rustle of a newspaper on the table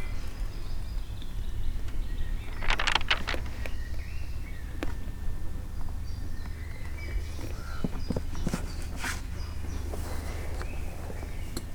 2.4 4.0

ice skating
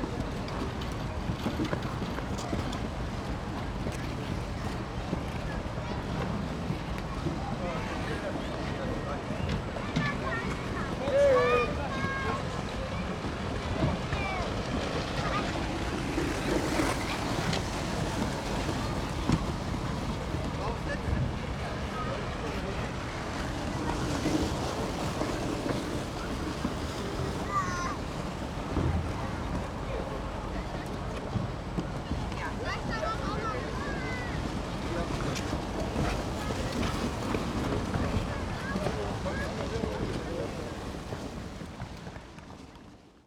0.1 6.7, 14.1 20.3, 22.0 31.3, 31.9 43.2

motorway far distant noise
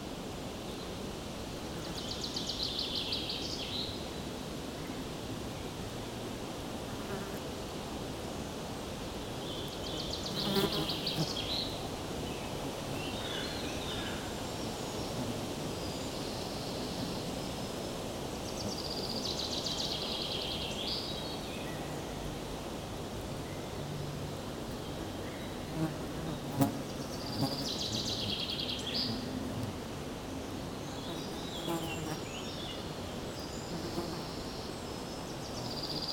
11.3 36.1

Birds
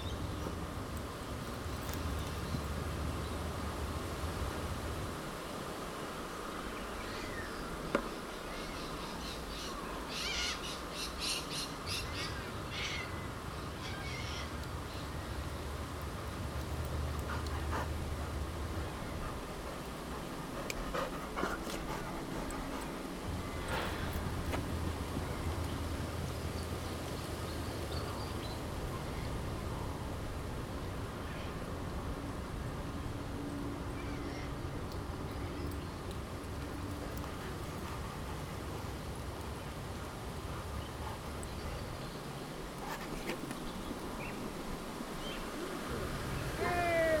6.3 29.4

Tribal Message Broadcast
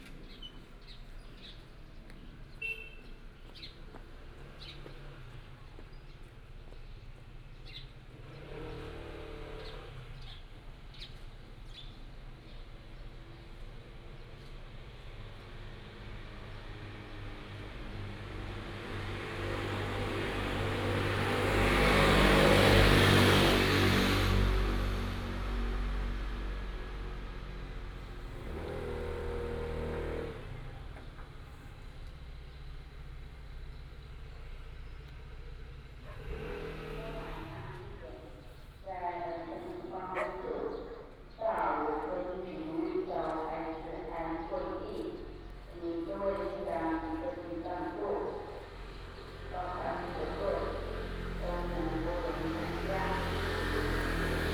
38.9 48.6, 51.4 53.2

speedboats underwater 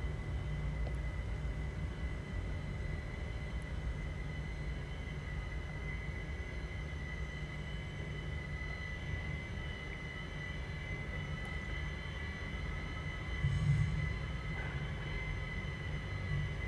13.3 16.6

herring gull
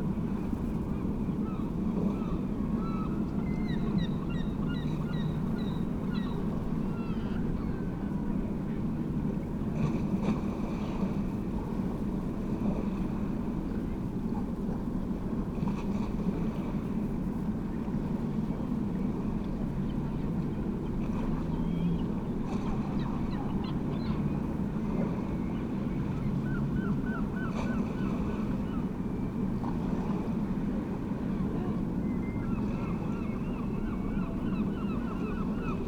32.0 35.8

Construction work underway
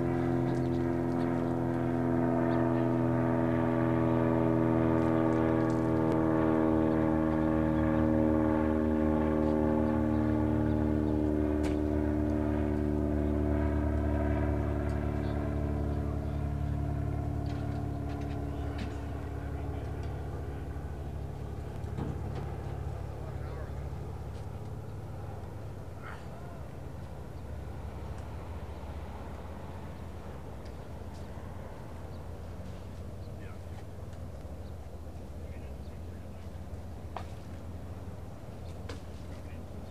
13.8 39.9

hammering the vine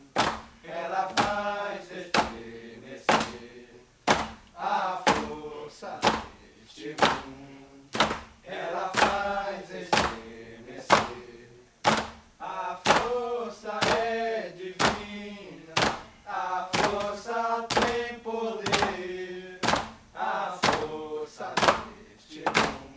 11.9 12.2, 15.8 16.1, 18.7 19.0, 19.6 20.0

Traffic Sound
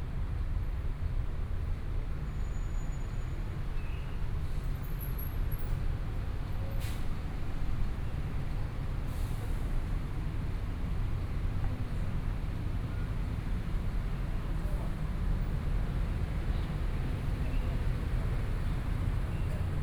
15.0 19.8

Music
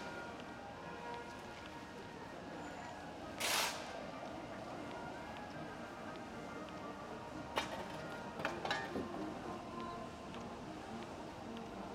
4.7 11.9

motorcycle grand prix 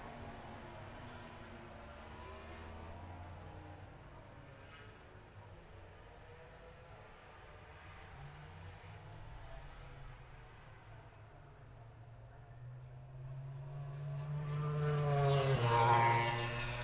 11.4 16.8

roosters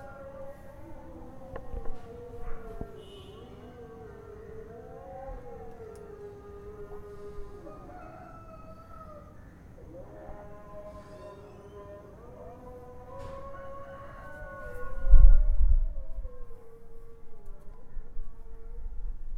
0.0 15.5

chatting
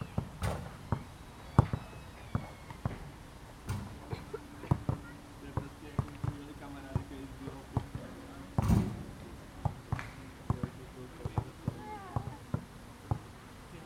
3.9 6.6, 11.5 12.6

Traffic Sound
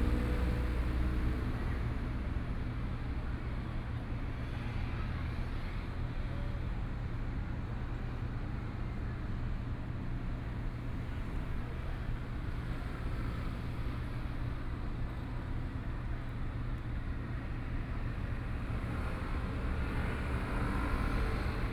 11.0 21.7

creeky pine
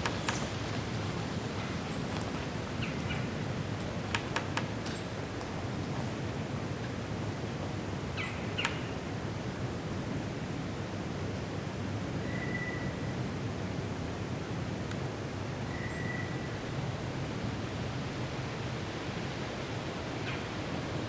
0.0 7.1

